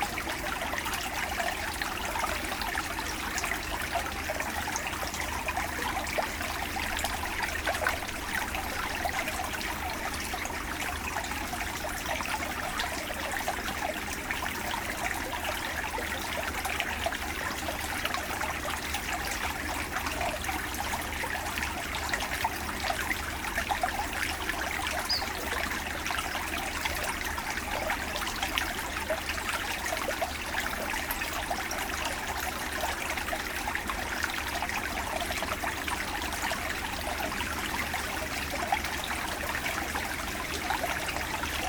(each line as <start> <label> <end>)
0.0 small stream inside the woods 41.6